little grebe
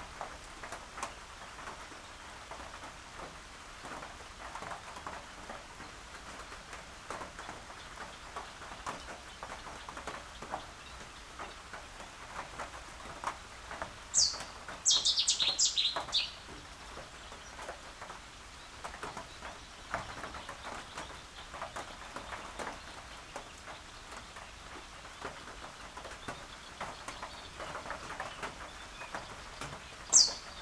0:14.1 0:16.6, 0:30.1 0:30.6

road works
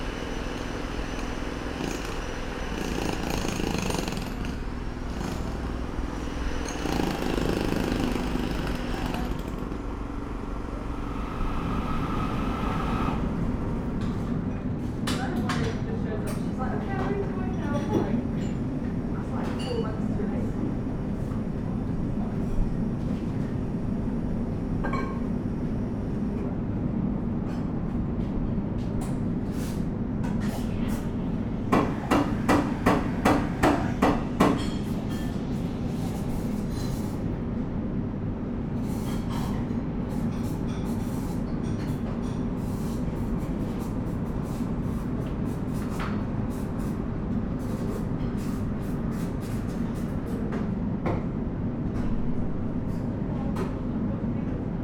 0:00.0 0:14.3

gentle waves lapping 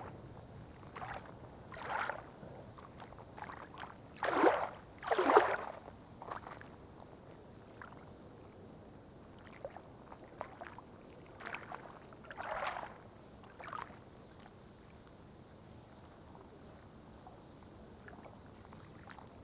0:00.8 0:06.8, 0:09.2 0:14.0

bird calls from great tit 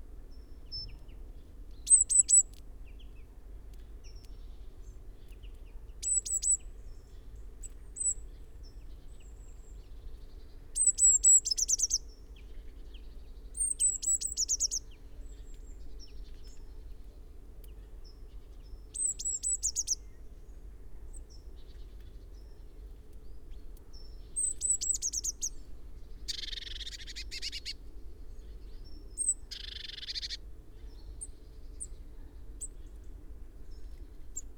0:13.6 0:14.8, 0:19.0 0:20.0, 0:26.3 0:27.8, 0:29.2 0:30.4

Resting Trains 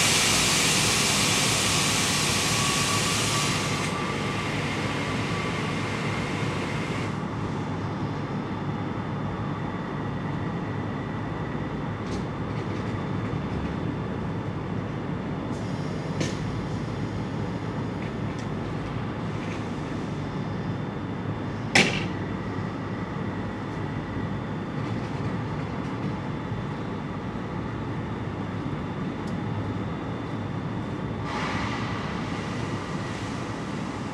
0:00.0 0:07.2, 0:31.2 0:34.1

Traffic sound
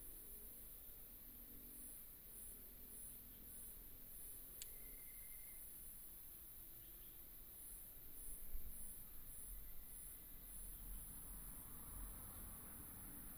0:10.3 0:13.3

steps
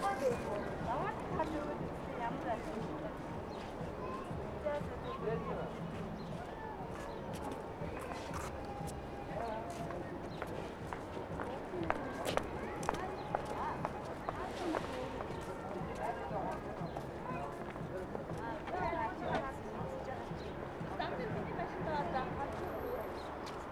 0:06.9 0:18.8

